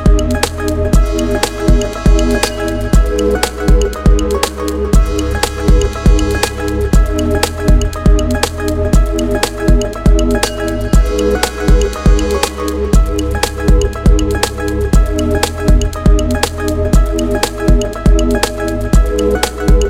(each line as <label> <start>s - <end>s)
Classic Edm 0.0s - 19.8s